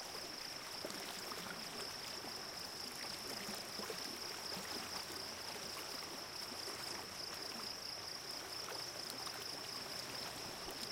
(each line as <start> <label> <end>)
0.0 crickets 10.9
0.0 stream running through a field 10.9